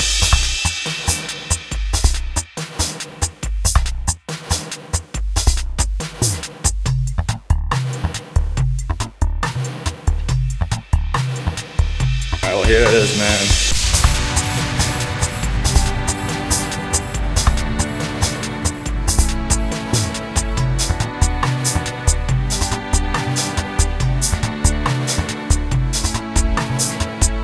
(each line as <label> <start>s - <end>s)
Dubstep beat 12.0s - 27.4s
orchestra 12.5s - 27.4s